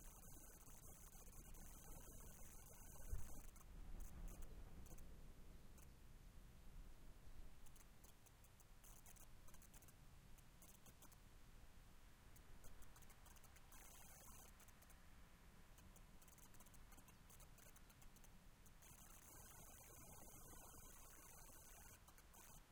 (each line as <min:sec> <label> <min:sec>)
0:00.0 interference 0:05.0
0:12.6 interference 0:14.7
0:18.8 interference 0:22.7